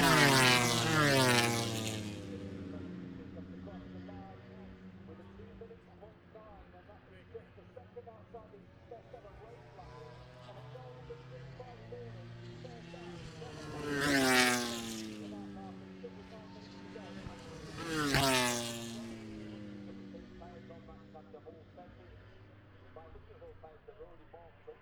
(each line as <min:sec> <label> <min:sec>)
0:00.0 moto grand prix free practice one 0:24.8